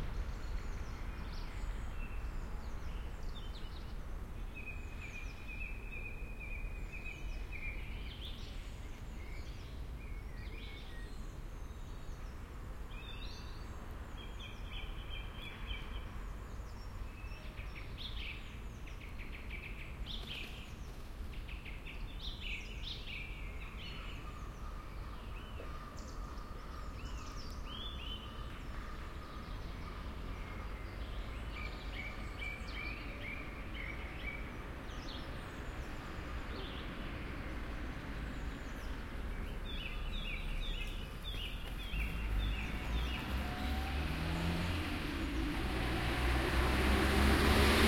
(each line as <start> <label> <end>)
0.0 Birds 47.8
27.3 Cars 47.8